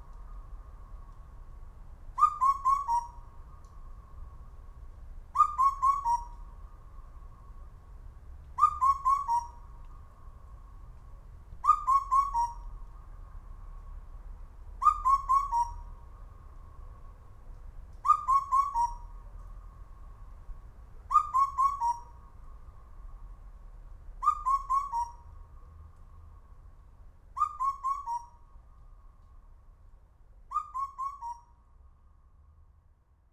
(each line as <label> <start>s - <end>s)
Night Owl broadcast 0.0s - 1.4s
Night Owl broadcast 2.1s - 4.6s
Night Owl broadcast 5.3s - 7.8s
Night Owl broadcast 8.5s - 13.9s
Night Owl broadcast 14.8s - 17.2s
Night Owl broadcast 17.9s - 20.3s
Night Owl broadcast 21.1s - 23.4s
Night Owl broadcast 24.2s - 26.5s
Night Owl broadcast 27.3s - 29.5s
Night Owl broadcast 30.5s - 31.7s